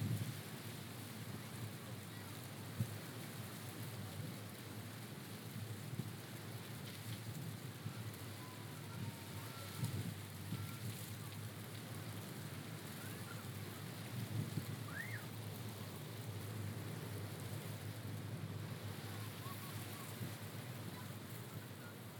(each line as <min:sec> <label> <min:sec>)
0:00.0 Palm Leaves in the Wind 0:22.1